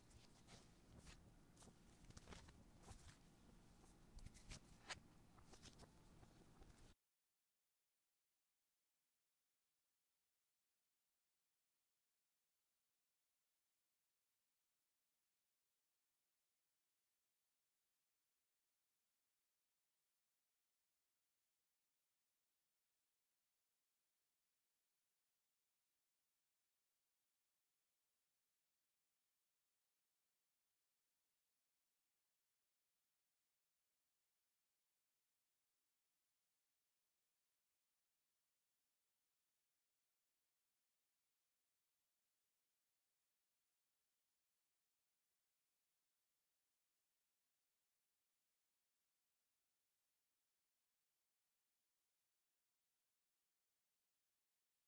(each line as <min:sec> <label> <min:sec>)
0:00.0 Kneading Bread 0:07.0